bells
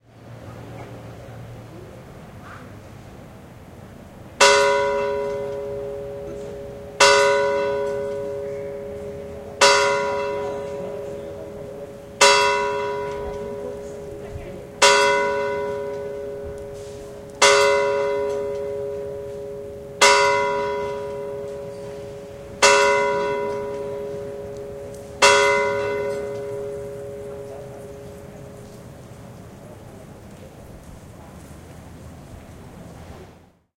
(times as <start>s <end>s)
4.4s 29.2s